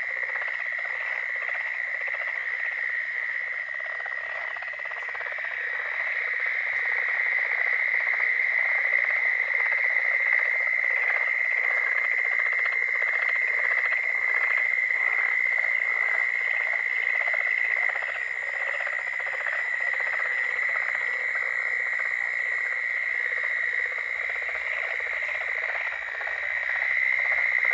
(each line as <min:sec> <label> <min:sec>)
0:00.0 frogs singing 0:27.7